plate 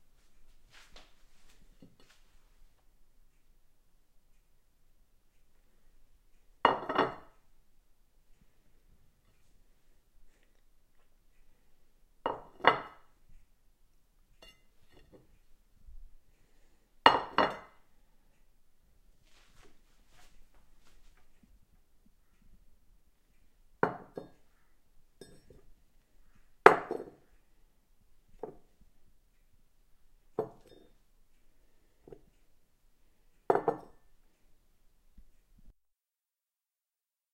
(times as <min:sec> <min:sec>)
0:06.7 0:07.4, 0:12.3 0:13.1, 0:14.4 0:15.3, 0:17.1 0:17.8, 0:23.8 0:24.4, 0:25.2 0:25.7, 0:26.7 0:27.2, 0:30.4 0:31.0, 0:33.5 0:34.0